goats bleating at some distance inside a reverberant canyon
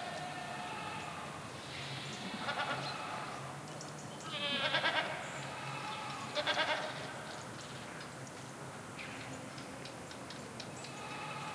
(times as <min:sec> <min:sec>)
0:00.0 0:07.3, 0:10.8 0:11.5